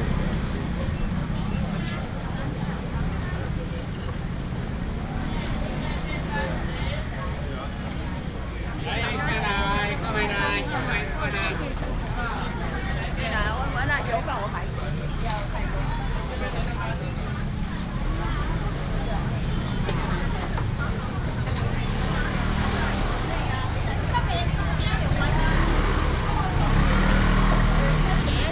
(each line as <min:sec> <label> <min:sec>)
0:00.0 Traffic sound 0:28.5